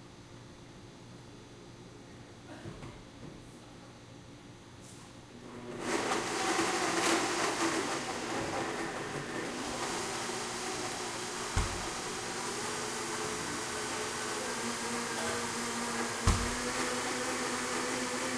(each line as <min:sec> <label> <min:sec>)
0:04.8 refrigerator 0:18.3
0:05.4 barista making milk shake 0:18.3